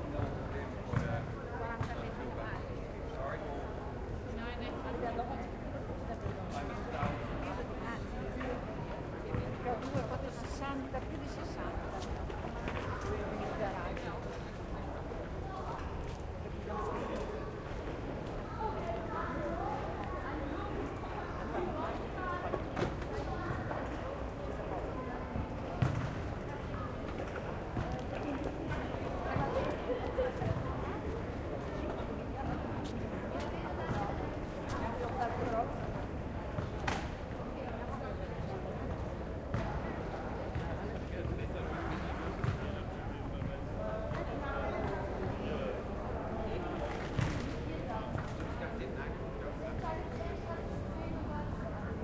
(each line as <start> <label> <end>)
0.0 tourists 52.0
4.8 Kids playing soccer 52.0